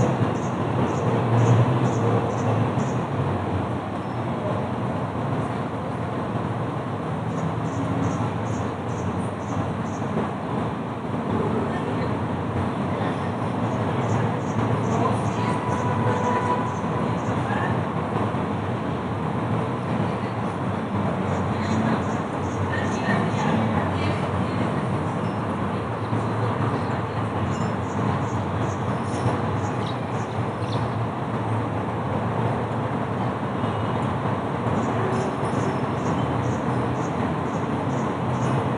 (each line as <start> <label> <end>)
0.0 traffic 38.7
0.0 wind 38.7
11.2 voices 38.7
27.5 birds 31.0